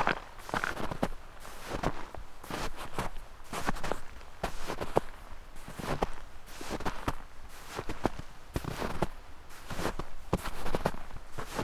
0.0s steps 1.1s

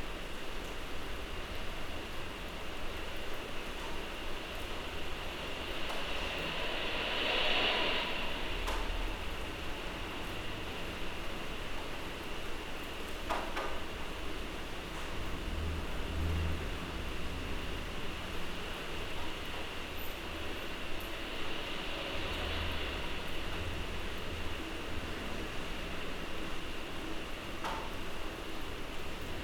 0.0s rain 29.4s
4.6s thunder 11.5s

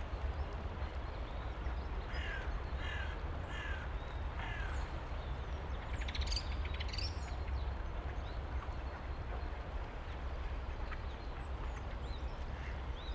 0.0s constant traffic hum in the background 13.1s
0.0s pedestrians passing by 13.1s

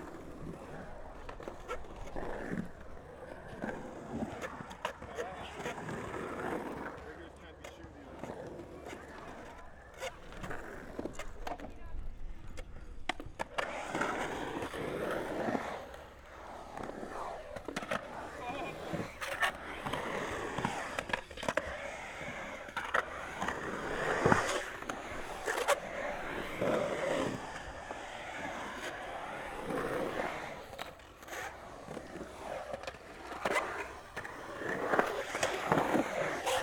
0.0s skaters excercising 36.6s

